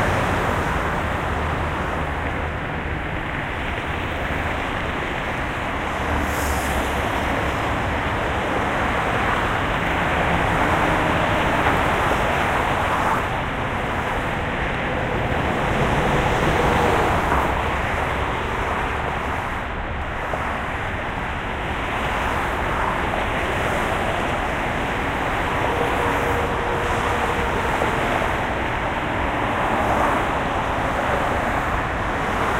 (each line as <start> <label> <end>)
0.0 traffic 32.5
0.0 trucks 32.5